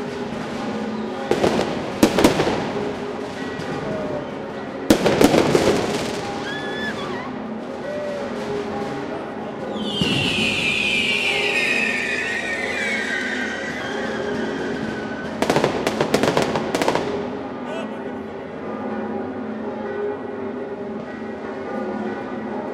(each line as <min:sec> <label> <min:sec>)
0:00.0 fireworks 0:17.8
0:00.0 bells start tolling 0:22.7